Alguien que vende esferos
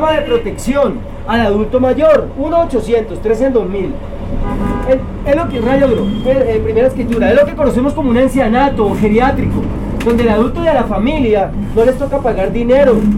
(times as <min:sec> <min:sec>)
0:04.8 0:13.1